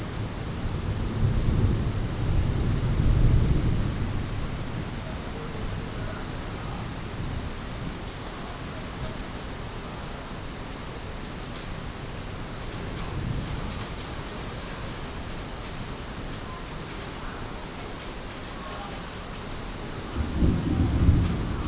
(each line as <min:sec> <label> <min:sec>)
0:00.0 Thunderstorms 0:08.0
0:19.6 Thunderstorms 0:21.6